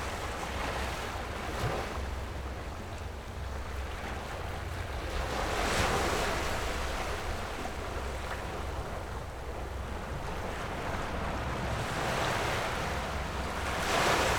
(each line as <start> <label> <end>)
0.0 Tide 14.3